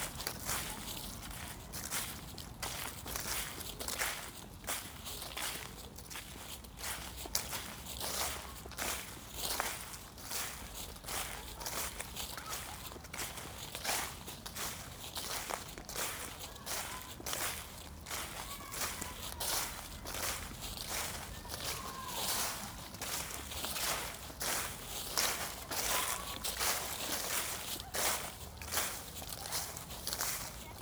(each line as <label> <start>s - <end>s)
Walking in Autumn Leaves 0.0s - 30.8s